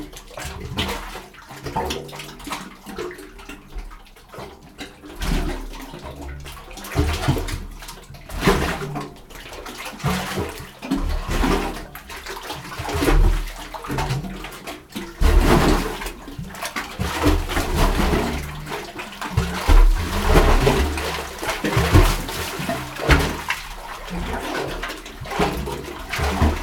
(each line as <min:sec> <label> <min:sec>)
0:06.7 waves pumping water into the opening form underneath the rocks 0:26.6